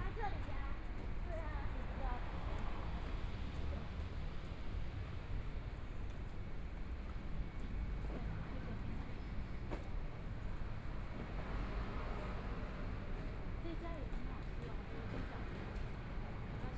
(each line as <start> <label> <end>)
0.0 Walking across the different streets 16.7
8.2 Traffic Sound 16.7